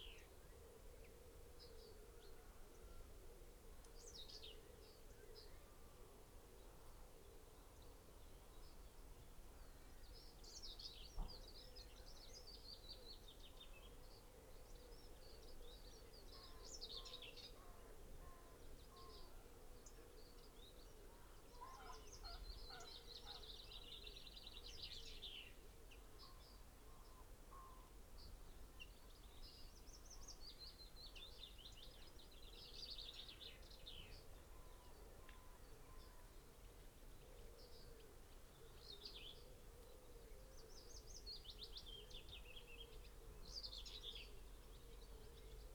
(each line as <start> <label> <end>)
11.1 pheasant 29.2
18.2 blackbird 25.6
21.5 crow 23.5
31.1 pheasant 45.7